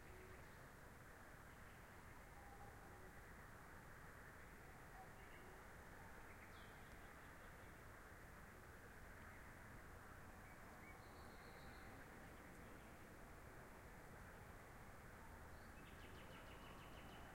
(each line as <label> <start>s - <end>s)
birds at night 0.0s - 17.3s